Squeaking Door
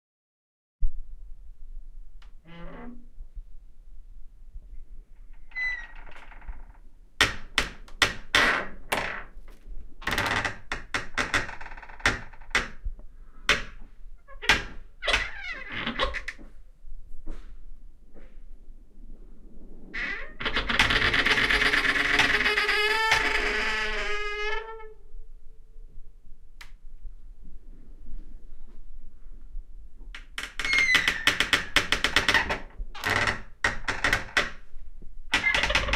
0:02.5 0:03.0, 0:05.4 0:09.3, 0:10.0 0:12.8, 0:13.5 0:16.4, 0:20.0 0:25.0, 0:30.4 0:34.6, 0:35.3 0:35.9

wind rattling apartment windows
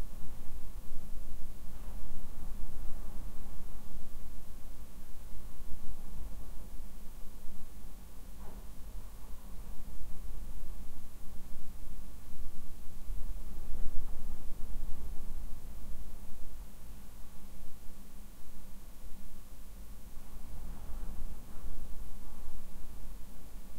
0:00.2 0:17.6

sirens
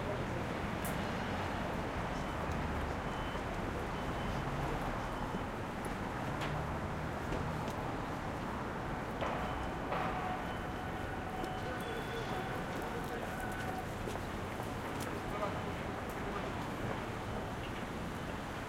0:09.3 0:17.5

